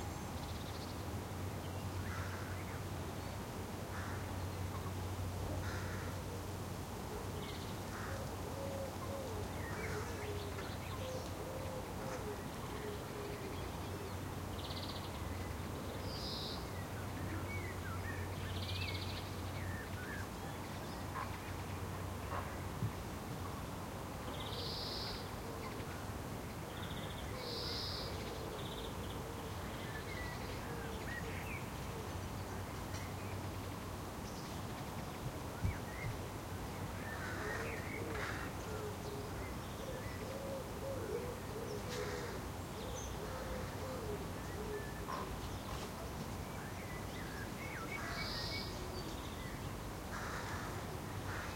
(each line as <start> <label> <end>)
0.0 Birds are singing 51.5
0.0 light wind is whistling in the trees 51.5